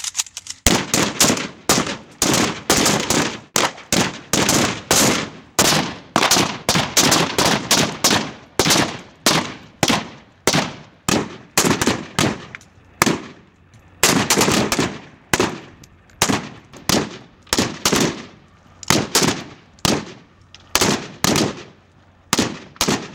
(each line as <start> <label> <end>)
0.0 AK 47 weapons being shot 23.1